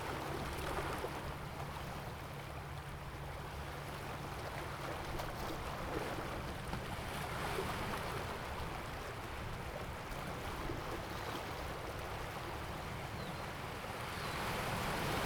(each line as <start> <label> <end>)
0.0 waves 15.2